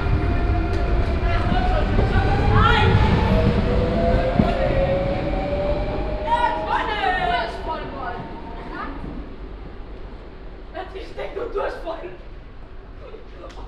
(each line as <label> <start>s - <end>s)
train standing at the platform - engine running 0.0s - 10.7s
train departure 0.0s - 11.2s
passengers entering the train 0.0s - 13.6s